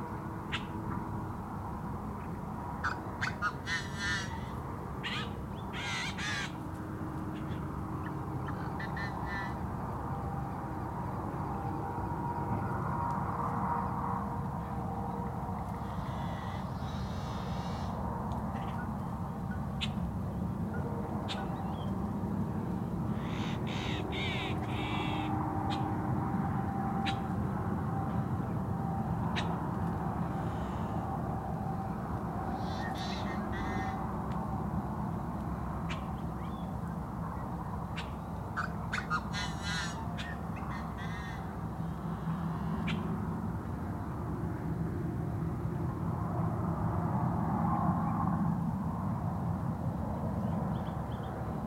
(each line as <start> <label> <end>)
0.0 Sunset Chorus of Birds 44.2
0.0 ambient traffic noise 51.6
50.0 Sunset Chorus of Birds 51.6